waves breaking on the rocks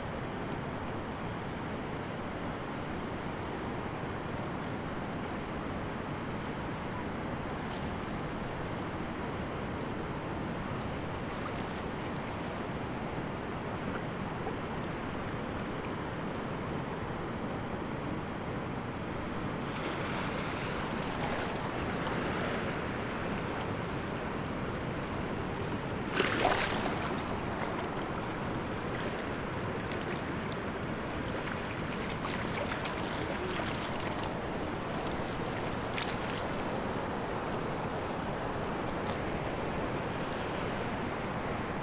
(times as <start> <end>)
19.3 41.8